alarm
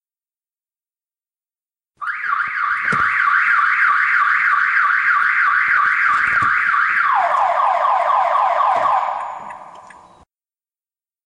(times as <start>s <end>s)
2.0s 10.2s